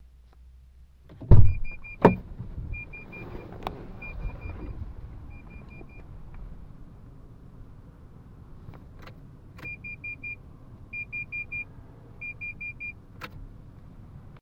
car door opening 0:01.1 - 0:06.1
open door alert beeps 0:01.3 - 0:02.2
open door alert beeps 0:02.8 - 0:03.4
open door alert beeps 0:04.0 - 0:04.7
open door alert beeps 0:05.3 - 0:06.1
open door alert beeps 0:09.6 - 0:10.4
open door alert beeps 0:11.0 - 0:13.0

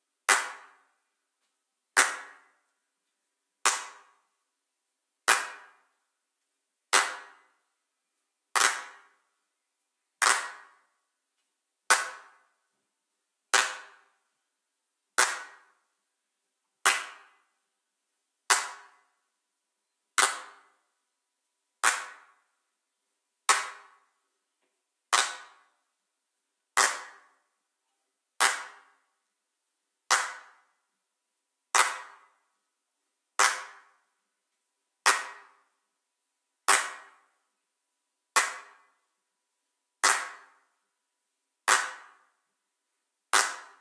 handclap 0:00.2 - 0:02.6
handclap 0:03.6 - 0:04.2
handclap 0:05.2 - 0:05.9
handclap 0:06.9 - 0:07.5
handclap 0:08.5 - 0:09.2
handclap 0:10.2 - 0:10.9
handclap 0:11.9 - 0:12.5
handclap 0:13.5 - 0:14.1
handclap 0:15.2 - 0:15.8
handclap 0:16.8 - 0:17.4
handclap 0:18.5 - 0:19.1
handclap 0:20.2 - 0:20.7
handclap 0:21.8 - 0:22.4
handclap 0:23.4 - 0:24.1
handclap 0:25.1 - 0:25.7
handclap 0:26.8 - 0:27.4
handclap 0:28.4 - 0:29.0
handclap 0:30.1 - 0:30.7
handclap 0:31.7 - 0:32.4
handclap 0:33.4 - 0:34.0
handclap 0:35.0 - 0:35.6
handclap 0:36.7 - 0:37.3
handclap 0:38.3 - 0:38.9
handclap 0:40.0 - 0:40.6
handclap 0:41.7 - 0:42.3
handclap 0:43.3 - 0:43.8

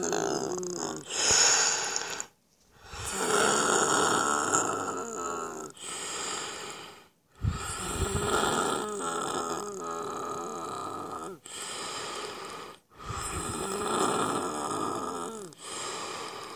breathing with bronchitis 0:01.0 - 0:04.2
breathing with bronchitis 0:05.7 - 0:08.8
breathing with bronchitis 0:11.4 - 0:14.2
breathing with bronchitis 0:15.5 - 0:16.5

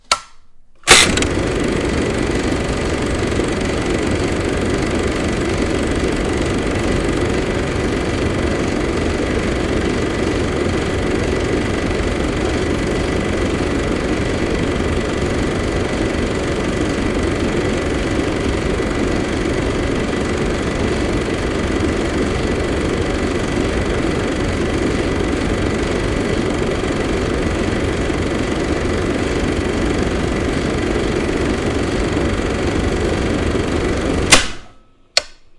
Super 8mm Repeater Projector 0:00.0 - 0:35.5

